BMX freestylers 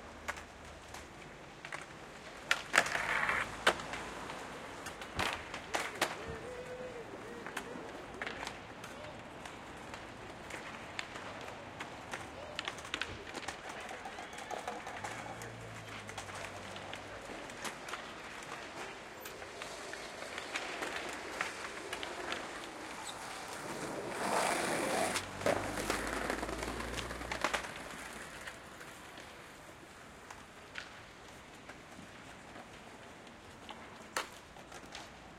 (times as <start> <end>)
14.9 28.6